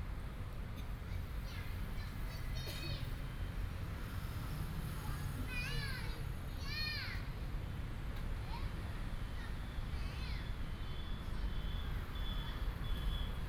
Traffic sound 0.0 - 13.4
Child 1.0 - 3.2
Child 5.0 - 7.4
Child 8.4 - 10.6

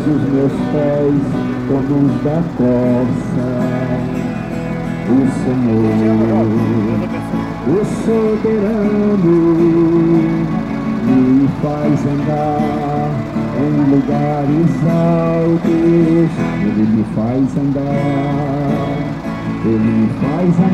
blessed pedestrians 0.0 - 20.7
guitar 0.0 - 20.7
musician played and sang songs of praise 0.0 - 20.7
people sat next to the pair and sang together 5.0 - 7.0
people sat next to the pair and sang together 7.6 - 20.7

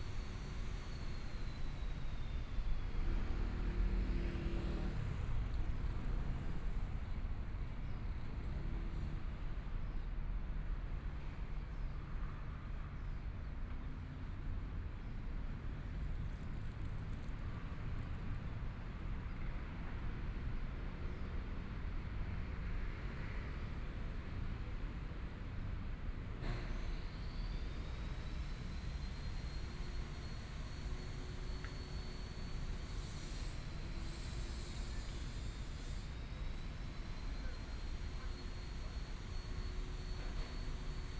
Construction noise 26.2 - 41.1

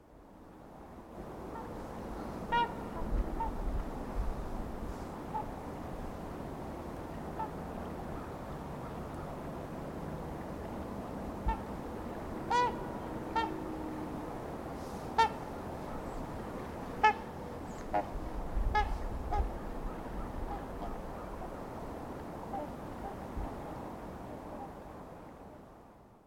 snow geese in flight 1.5 - 3.6
snow geese in flight 4.9 - 5.5
snow geese in flight 7.4 - 9.4
snow geese in flight 11.4 - 14.1
snow geese in flight 14.8 - 24.8

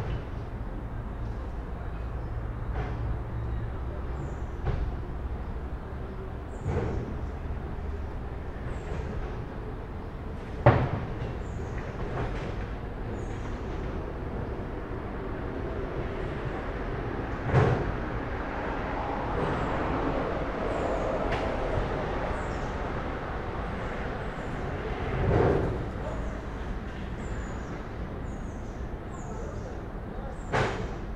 Street traffic 0.0 - 31.1

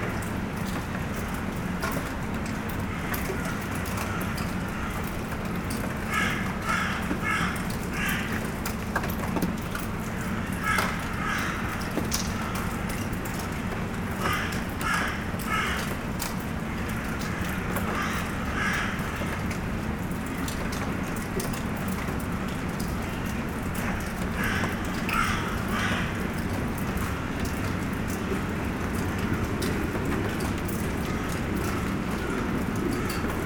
small rain 0.0 - 33.4
Crows are shouting 6.0 - 8.5
Crows are shouting 10.4 - 12.7
Crows are shouting 14.2 - 15.9
Crows are shouting 16.8 - 19.5
Crows are shouting 23.8 - 26.5

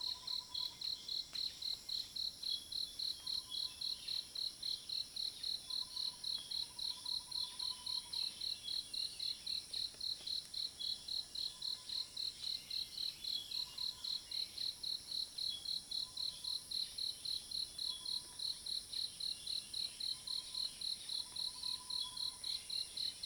insects 0.0 - 23.2

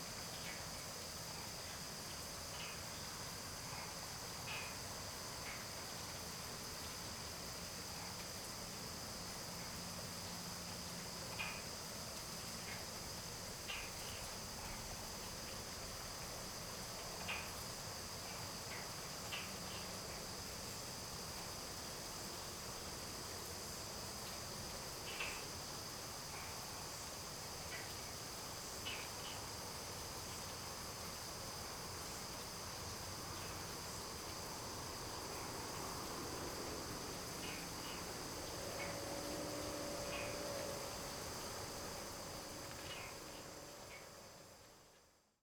frogs chirp 31.1 - 44.6

